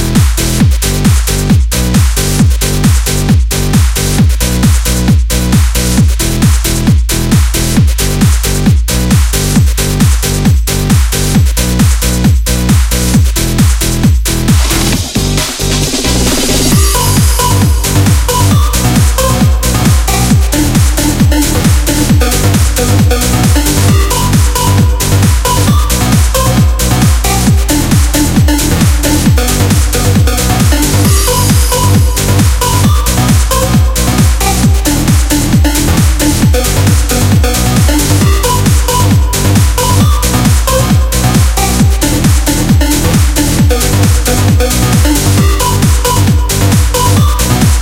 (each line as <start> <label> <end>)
0.0 modern sounding dance music 47.8